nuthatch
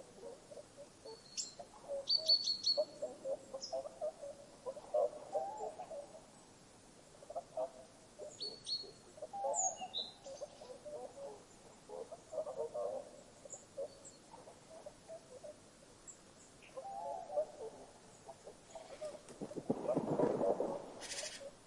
8.3 21.6

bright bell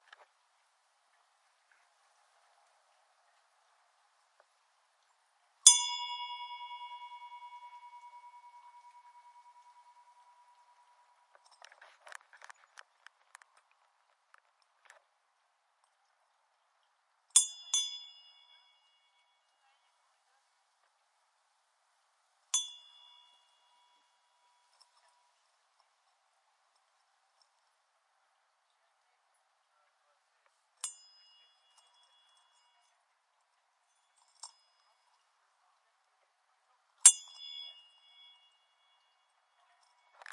5.6 11.9, 17.4 19.9, 22.5 25.4, 30.8 33.0, 33.9 35.4, 37.0 40.3

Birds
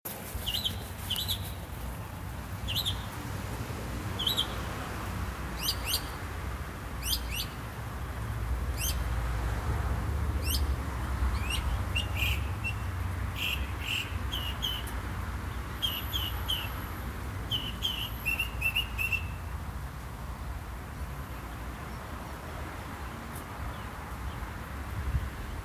0.1 3.2, 4.1 4.8, 5.5 6.2, 7.0 7.6, 10.4 19.5

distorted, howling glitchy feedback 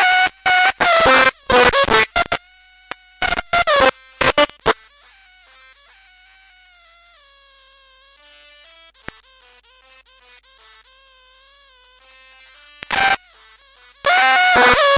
14.1 14.9

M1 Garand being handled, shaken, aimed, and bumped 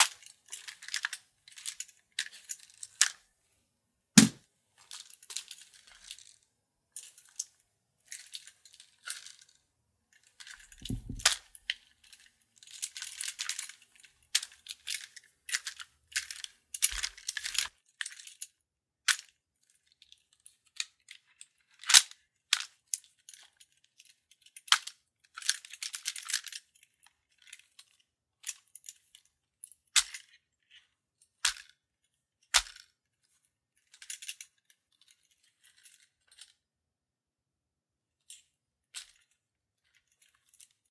4.2 6.4, 10.4 18.5

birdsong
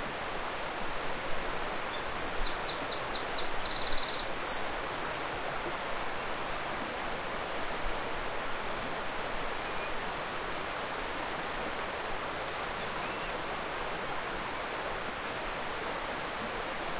0.7 5.3, 11.8 13.4

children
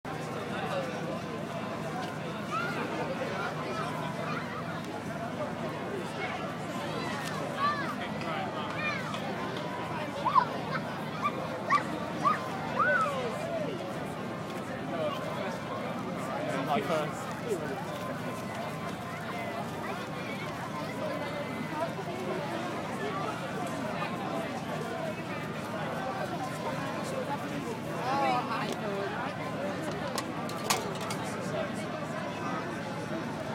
1.9 16.1, 17.1 28.3

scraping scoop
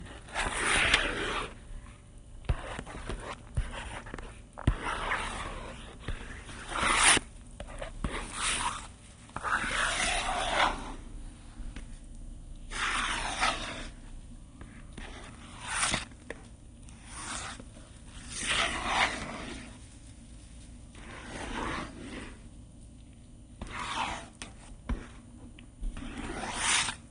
0.1 1.6, 2.6 11.0, 12.7 14.0, 15.0 16.1, 18.2 19.8, 26.0 27.0

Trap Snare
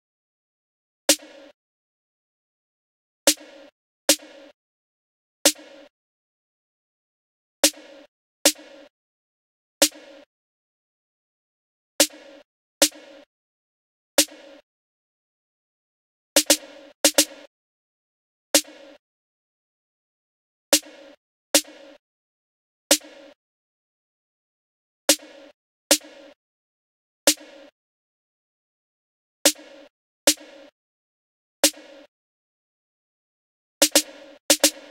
1.1 1.6, 3.3 4.6, 5.5 5.9, 9.8 10.3, 12.0 13.3, 14.2 14.6, 16.4 17.5, 18.6 18.8, 25.1 26.2, 29.5 30.7, 31.6 32.1, 33.8 34.9

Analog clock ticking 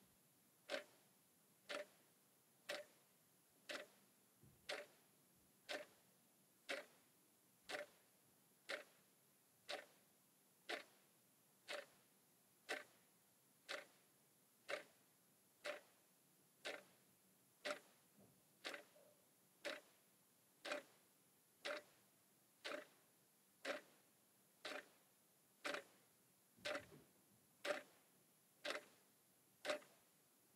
0.7 1.0, 1.6 2.0, 2.6 3.0, 3.6 4.0, 4.6 5.0, 5.6 6.0, 6.6 7.0, 7.6 9.0, 9.6 10.0, 10.6 11.0, 11.6 13.0, 13.6 14.0, 14.6 15.0, 15.6 16.0, 16.6 17.0, 17.6 18.0, 18.6 20.0, 20.6 21.0, 21.6 22.0, 22.6 26.0, 26.6 27.0, 27.6 28.0, 28.6 29.0, 29.6 30.1

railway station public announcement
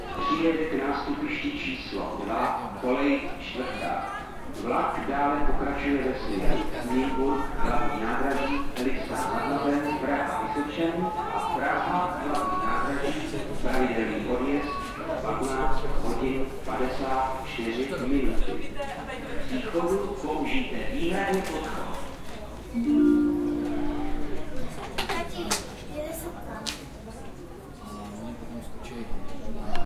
0.0 3.8, 22.6 24.9

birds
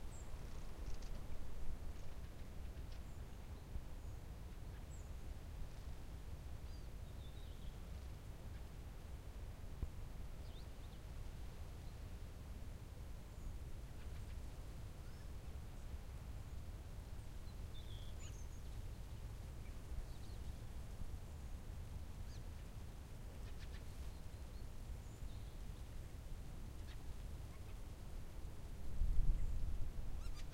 0.0 6.0, 13.2 28.0, 29.1 30.5

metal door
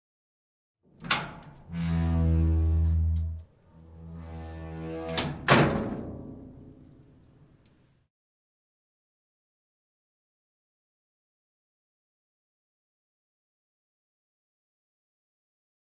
1.0 7.1

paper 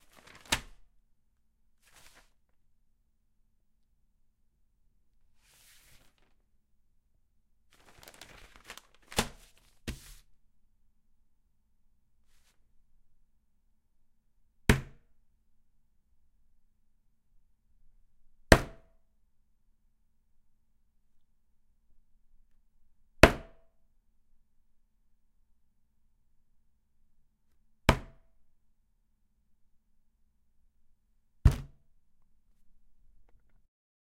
0.0 0.8, 1.8 2.4, 5.4 6.4, 7.8 10.2

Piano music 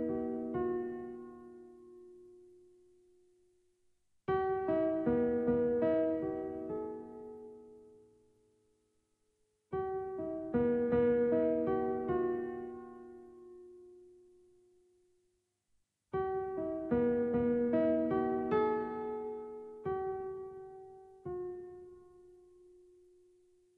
0.0 2.7, 4.3 8.0, 9.7 14.5, 16.2 23.2

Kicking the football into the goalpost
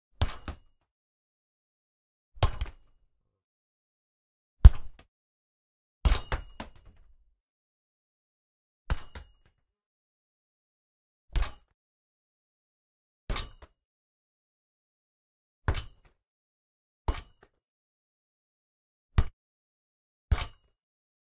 4.6 5.0

